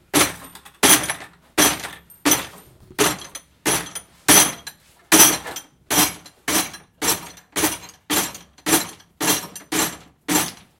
Bucket Of Scrap Metal Rattles 0.0 - 10.7

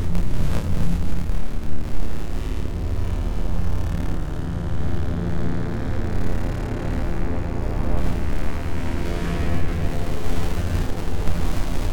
static 0.0 - 5.0
drone 0.0 - 11.9

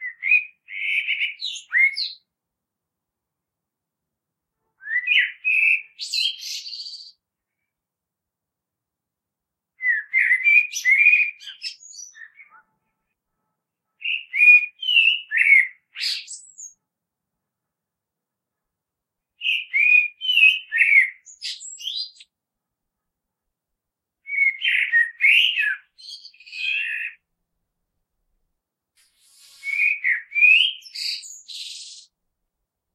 Blackbird spring song 0.0 - 2.3
Blackbird spring song 4.8 - 7.7
Blackbird spring song 9.8 - 12.9
Blackbird spring song 14.0 - 16.8
Blackbird spring song 19.4 - 22.3
Blackbird spring song 24.3 - 27.2
Blackbird spring song 29.0 - 32.1

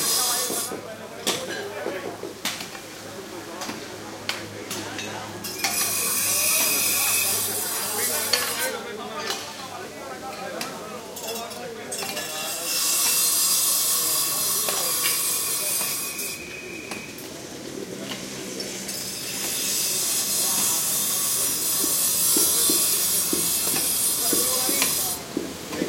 bandsaw cutting stuff 0.0 - 0.8
chatter 0.0 - 25.8
light, offmic traffic 0.0 - 25.8
bandsaw cutting stuff 5.4 - 9.4
bandsaw cutting stuff 12.0 - 17.1
bandsaw cutting stuff 17.9 - 25.8

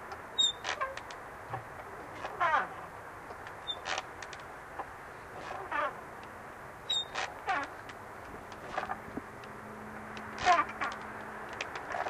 swings 5.3 - 6.0
swings 8.6 - 9.1
swings 10.2 - 12.0

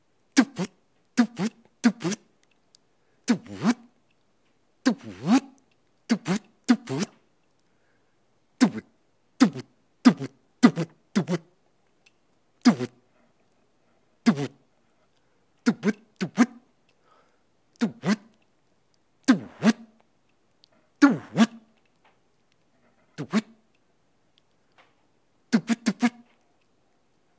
DJ scratch 21.0 - 21.6
DJ scratch 23.2 - 23.5

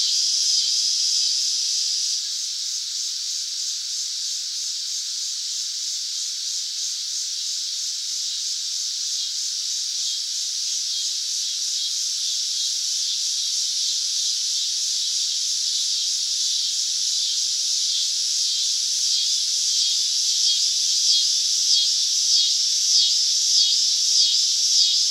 cicadas 0.0 - 25.1

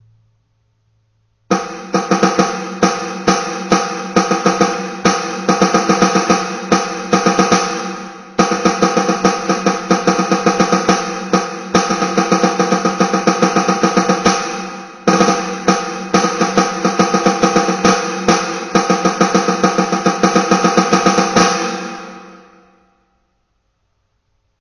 Snare 1.5 - 22.6

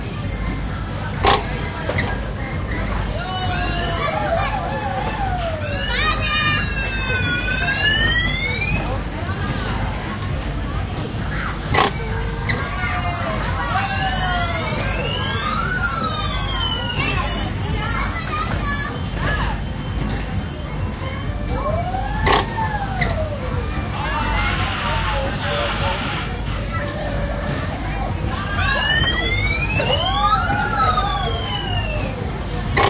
carrousel 0.0 - 32.8

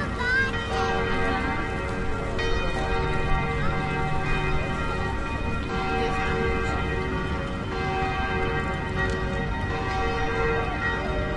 church bells 0.0 - 11.3
people walking and talking 0.0 - 11.3
traffic 0.0 - 11.3

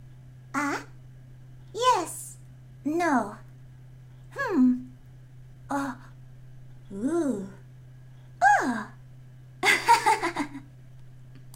cute girl dialogue sounds 0.6 - 1.0
cute girl dialogue sounds 1.8 - 3.4
cute girl dialogue sounds 4.4 - 4.9
cute girl dialogue sounds 5.7 - 6.1
cute girl dialogue sounds 6.9 - 7.6

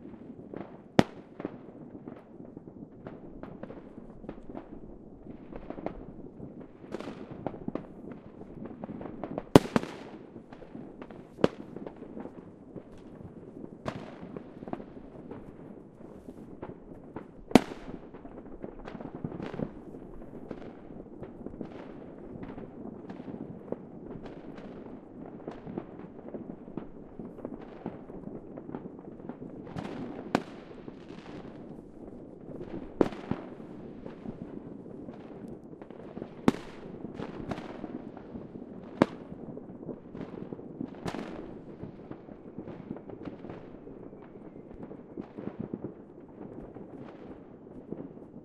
Close and distant fireworks 0.0 - 48.4

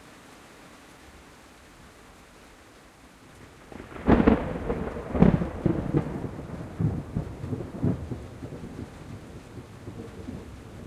rain on tin roof 0.0 - 10.8
thunderclaps 3.6 - 10.8

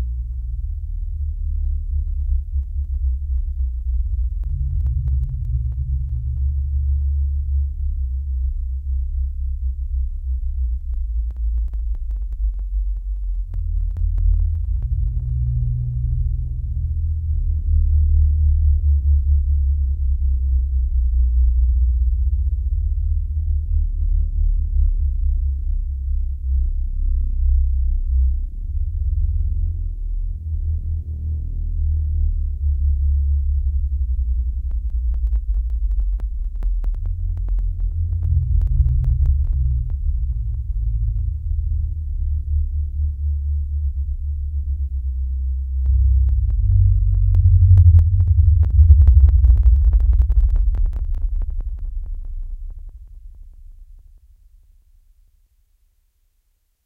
sub bass 0.0 - 56.8
ASIO driver bugs 34.6 - 41.9
ASIO driver bugs 45.8 - 54.0

